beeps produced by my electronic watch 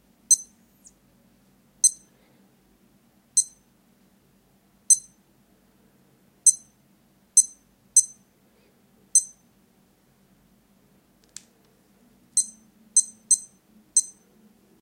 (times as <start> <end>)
0.3 0.6, 1.8 2.1, 3.4 3.6, 4.9 5.2, 6.5 6.7, 7.4 8.2, 9.2 9.4, 12.4 14.2